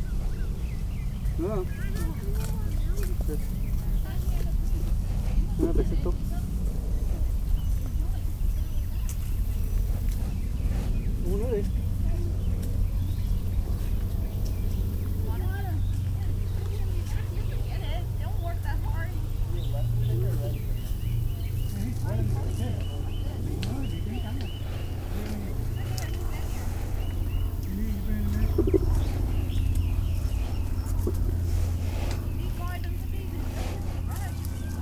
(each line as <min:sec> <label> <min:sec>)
0:00.0 Birds 0:34.8
0:00.0 Family picking blueberries 0:34.8
0:00.0 airplane traffic 0:34.8
0:00.0 cicadas 0:34.8
0:00.0 people talking 0:34.8
0:18.7 other bugs 0:34.7